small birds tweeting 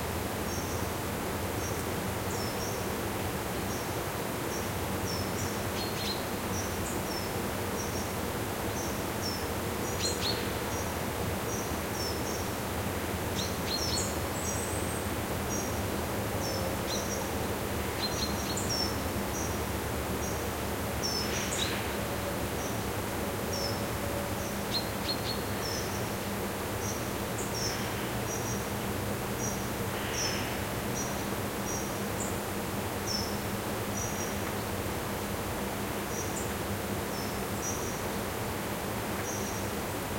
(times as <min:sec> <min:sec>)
0:16.4 0:23.8, 0:24.4 0:34.9, 0:35.9 0:39.8